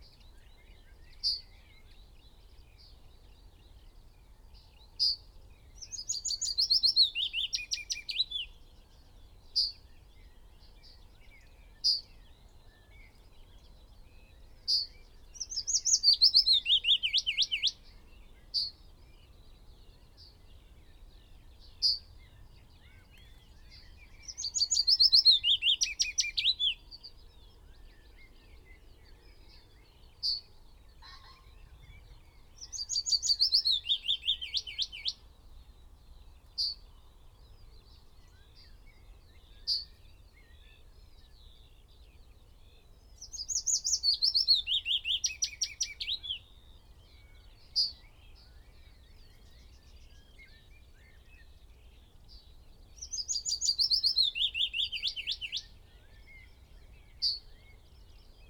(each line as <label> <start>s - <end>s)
pheasant 0.0s - 35.3s
background noise 0.0s - 58.4s
blackbird 0.0s - 58.4s
willow warbler song 0.0s - 58.4s